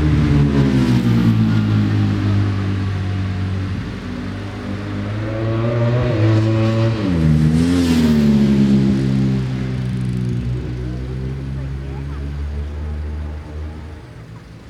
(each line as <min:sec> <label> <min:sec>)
0:00.0 superbike qualifying 0:14.6